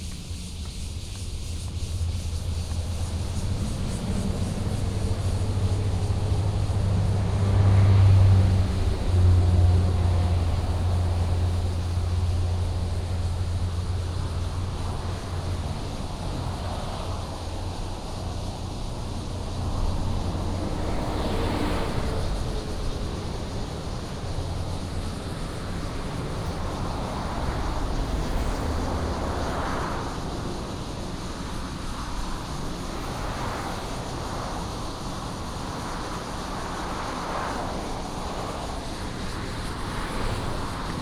Walking in the park 0:00.0 - 0:31.5
Cicadas 0:00.0 - 0:41.0
Traffic sound 0:00.0 - 0:41.0

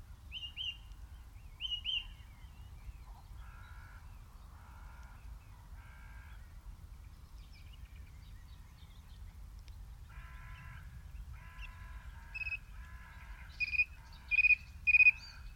skylarks 0:00.0 - 0:15.5
song thrush sings loudly 0:01.6 - 0:02.2
crows 0:03.1 - 0:06.4
crows 0:10.1 - 0:15.5
Wood pigeons call 0:10.1 - 0:15.5
pheasants 0:10.2 - 0:15.5
song thrush sings loudly 0:13.5 - 0:15.5

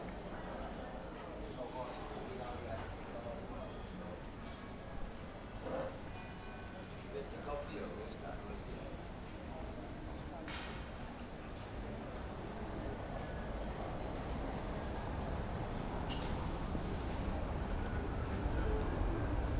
people talking at tables 0:00.0 - 0:19.5

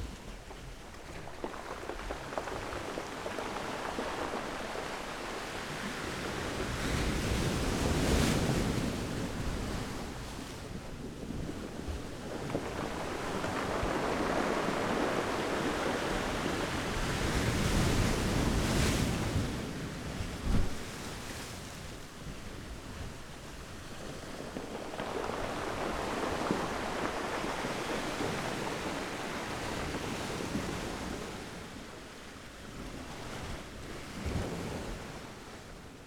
stones in water 0:00.3 - 0:06.2
stones in water 0:24.0 - 0:29.2

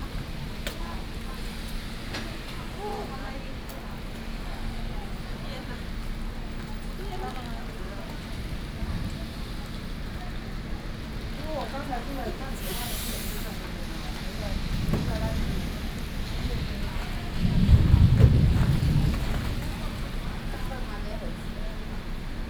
Thunderstorms 0:14.3 - 0:22.4

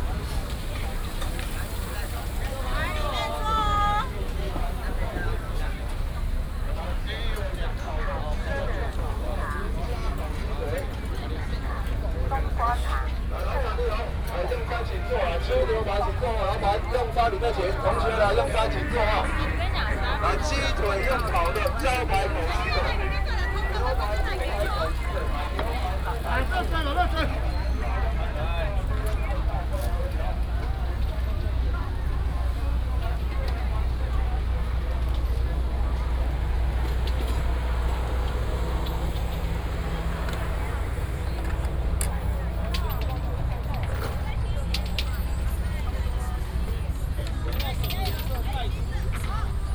Traffic sound 0:00.0 - 0:49.7
Walking through the night market 0:00.0 - 0:49.7

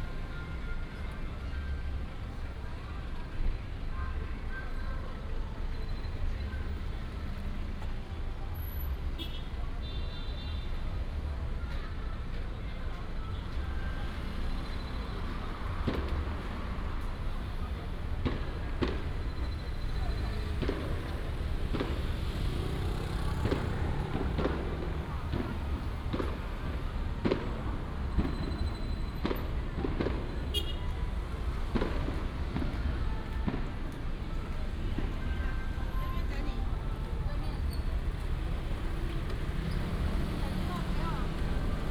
Traffic sound 0:00.0 - 0:41.9
firecrackers 0:13.6 - 0:41.9
Fireworks 0:13.8 - 0:41.9

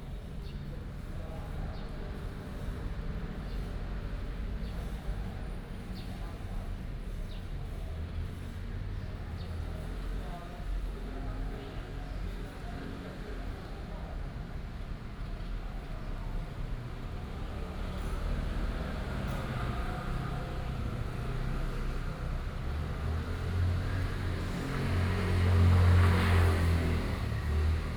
Traffic Sound 0:15.0 - 0:27.9

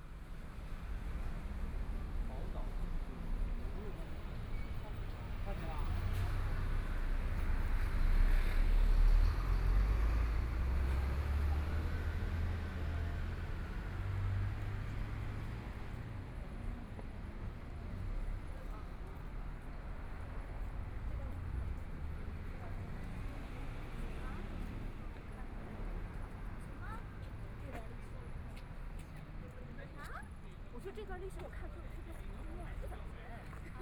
Traffic Sound 0:00.0 - 0:33.8
Walking across the different streets 0:00.0 - 0:33.8

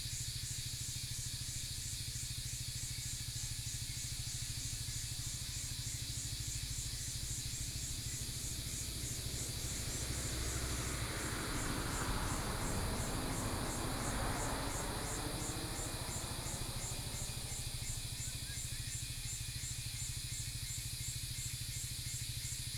Cicadas cry 0:00.2 - 0:22.7

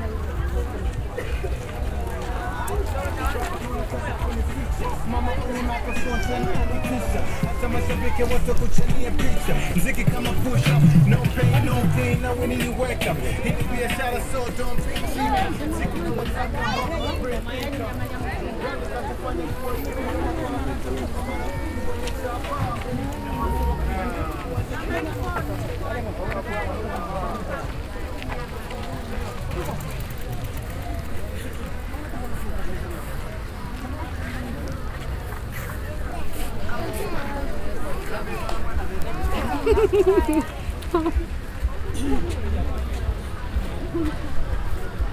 Talking to Chitenge traders 0:00.8 - 0:27.8

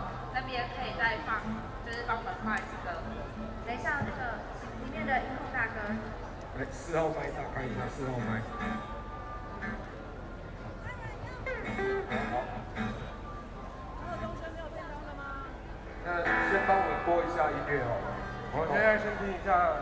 Students and the public 0:00.0 - 0:19.8
Rock Band songs 0:16.1 - 0:19.8

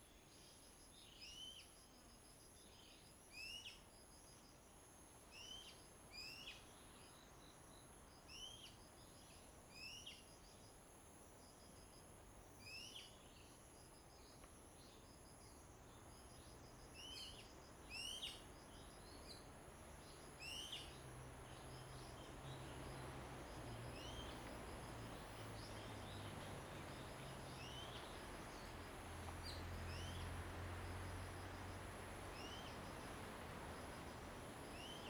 Wind 0:00.0 - 0:35.0
Birds singing 0:27.6 - 0:28.7

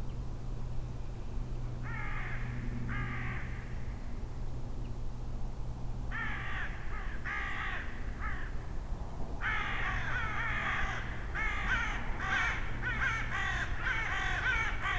goshawk is hunting crows 0:01.8 - 0:04.0
goshawk is hunting crows 0:06.1 - 0:08.6
goshawk is hunting crows 0:09.4 - 0:14.9

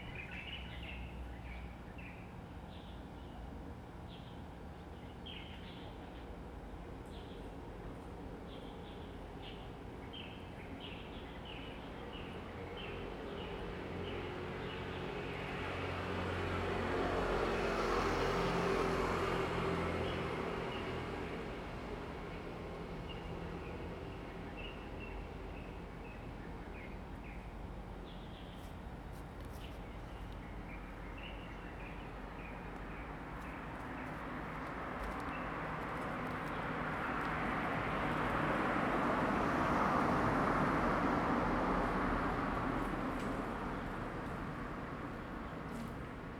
Traffic Sound 0:13.5 - 0:46.3

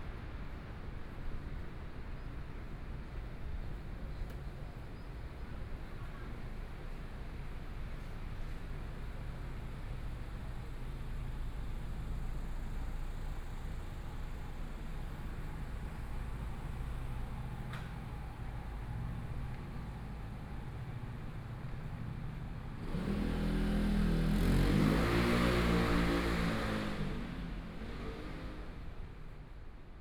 Walking through the streets 0:00.0 - 0:30.0
Traffic Sound 0:00.0 - 0:30.0

